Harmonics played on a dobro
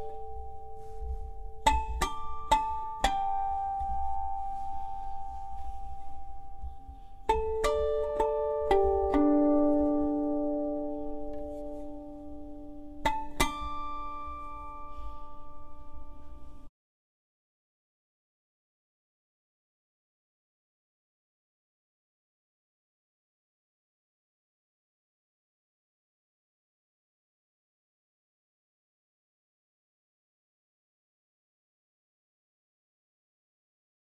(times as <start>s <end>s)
0.0s 16.7s